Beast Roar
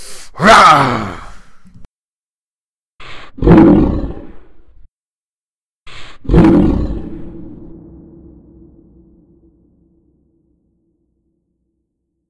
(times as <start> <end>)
0.4 1.4, 3.1 4.6, 5.9 8.7